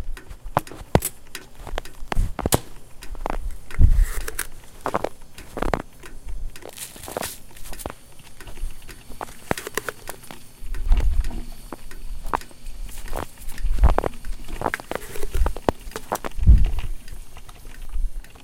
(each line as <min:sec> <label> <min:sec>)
0:00.3 sealing container 0:18.4
0:04.0 scooping ground coffee into a coffee filter 0:18.4
0:08.8 Opening a container 0:10.4